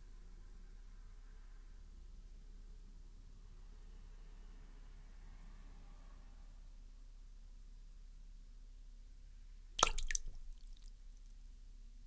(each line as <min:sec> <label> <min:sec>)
0:09.8 wedding ring drop at water 0:10.9